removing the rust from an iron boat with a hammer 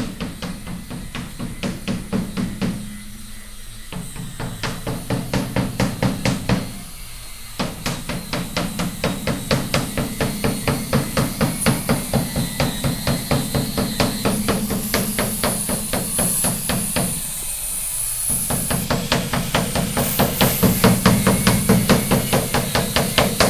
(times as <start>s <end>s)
18.3s 23.4s